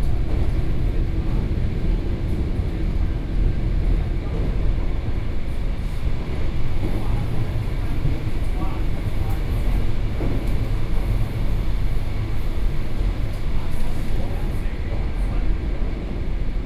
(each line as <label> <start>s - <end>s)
On the train 0.0s - 16.6s